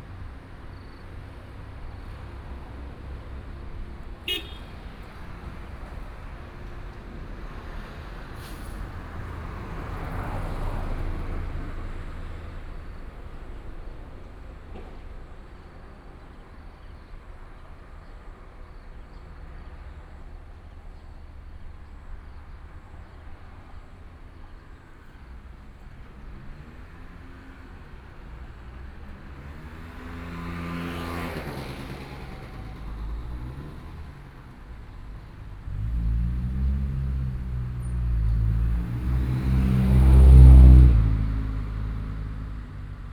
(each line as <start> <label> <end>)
0.0 Traffic Sound 43.1